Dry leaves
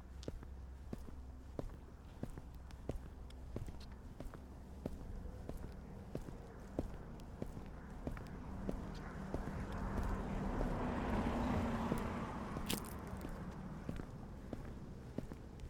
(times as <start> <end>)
12.6 13.2